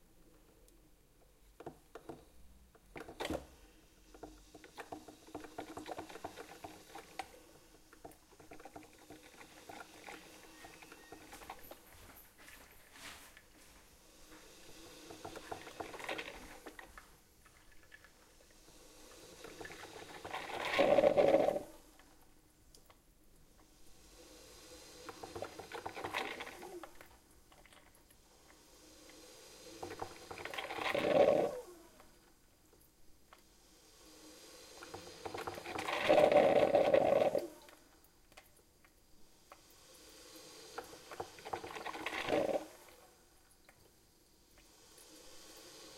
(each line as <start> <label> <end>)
0.0 Old Coffee Maker 24.1
24.7 Old Coffee Maker 28.6
29.7 Old Coffee Maker 33.6
34.7 Old Coffee Maker 39.6
40.7 Old Coffee Maker 44.8